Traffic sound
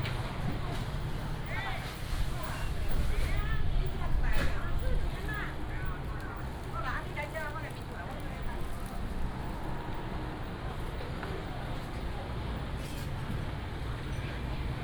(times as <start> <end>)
4.9 14.8